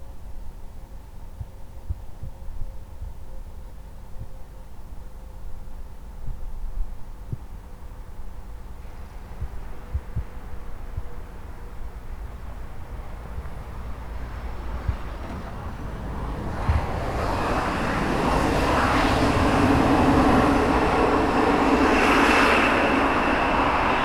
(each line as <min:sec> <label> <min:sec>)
0:11.9 Plane Landing 0:24.0